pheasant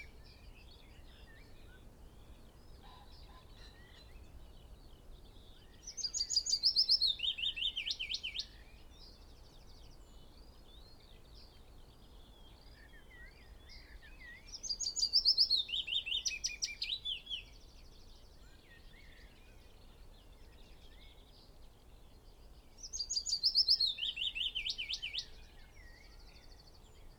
0.0 8.9

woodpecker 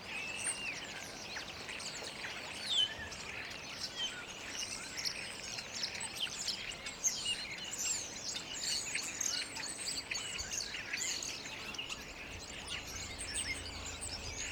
4.6 14.5

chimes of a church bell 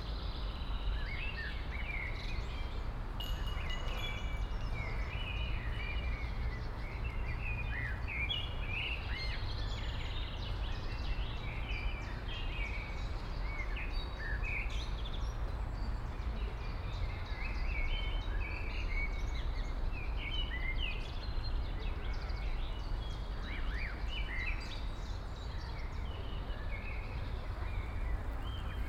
3.2 5.7

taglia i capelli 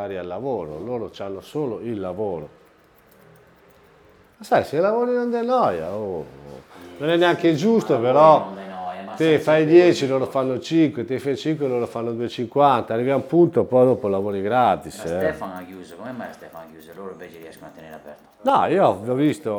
5.1 11.2

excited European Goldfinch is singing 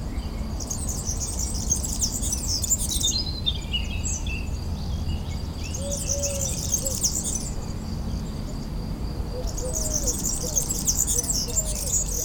0.6 3.6, 9.4 12.2

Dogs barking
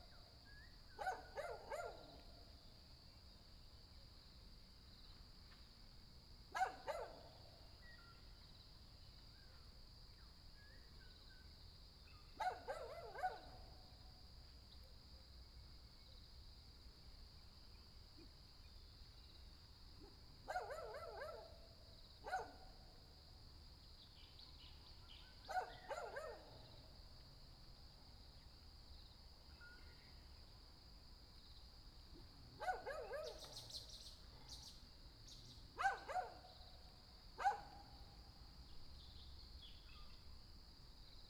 1.0 2.0, 6.6 7.2, 12.4 13.5, 20.5 21.4, 22.3 22.6, 25.5 26.5, 32.6 33.6, 35.8 36.4, 37.4 37.8

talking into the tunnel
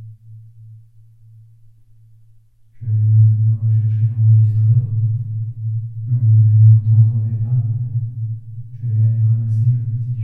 2.8 5.2, 6.1 7.9, 8.8 10.2

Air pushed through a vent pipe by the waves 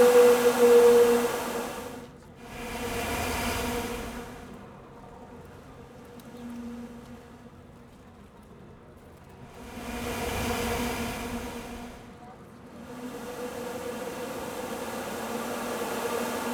0.0 5.7, 9.3 16.5

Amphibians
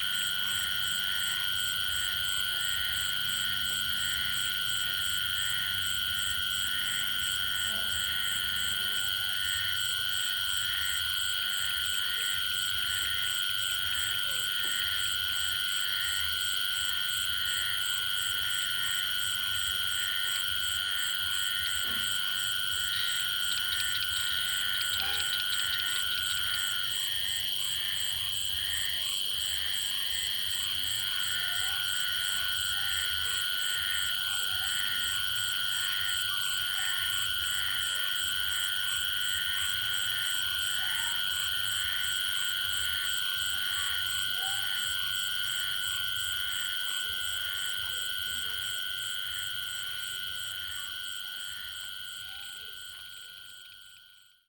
21.8 28.1

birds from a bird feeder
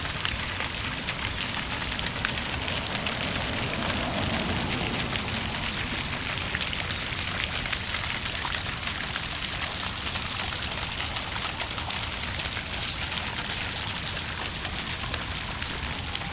10.4 16.3

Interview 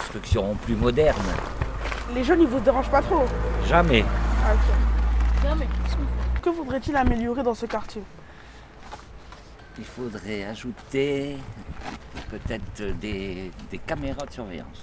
0.0 8.2

